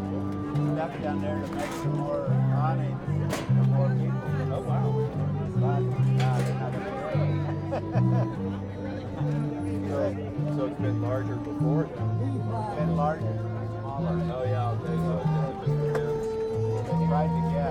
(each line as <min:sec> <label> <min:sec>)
0:00.0 fiddlers 0:17.7